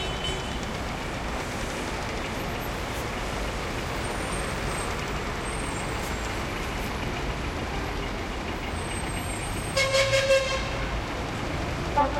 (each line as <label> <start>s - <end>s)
traffic heavy 0.0s - 12.1s